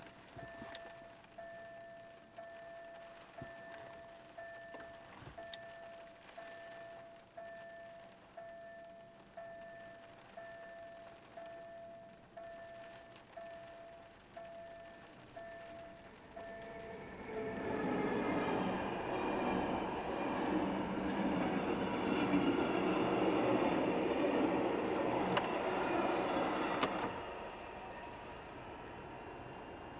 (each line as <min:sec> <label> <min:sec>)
0:00.0 railroad crossing 0:29.9
0:00.0 rain 0:29.9
0:00.0 train 0:29.9
0:15.6 Car Ride 0:25.6